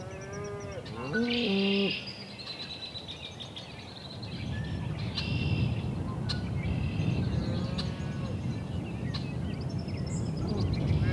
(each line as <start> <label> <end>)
0.0 Cows and bulls calling and mooing 2.0
0.0 bird singing 11.1